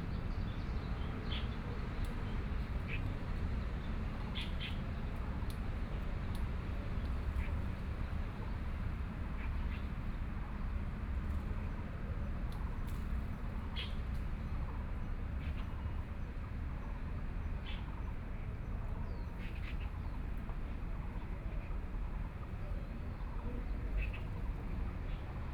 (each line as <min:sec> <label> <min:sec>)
0:13.4 Birdsong 0:14.7
0:16.9 Birdsong 0:25.5